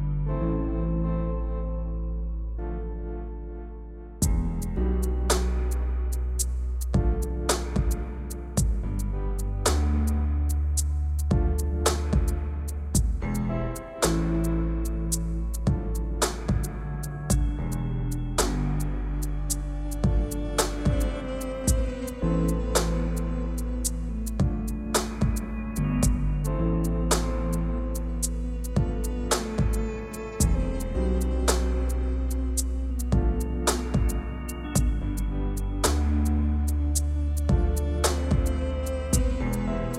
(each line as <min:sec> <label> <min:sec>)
0:00.0 bass 0:39.9
0:04.2 kick 0:04.6
0:07.0 kick 0:09.1
0:11.3 kick 0:14.5
0:15.6 kick 0:17.8
0:20.0 kick 0:22.1
0:24.4 kick 0:26.5
0:28.8 kick 0:30.8
0:33.1 kick 0:35.1
0:37.5 kick 0:39.5